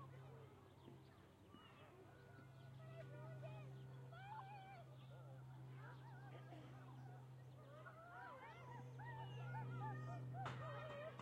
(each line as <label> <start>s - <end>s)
children playing on a playground 0.0s - 11.2s